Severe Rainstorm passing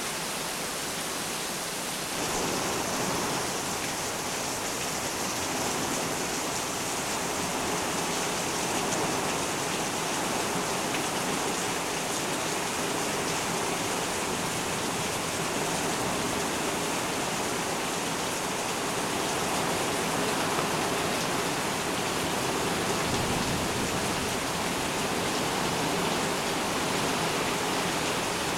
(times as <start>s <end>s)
19.2s 28.5s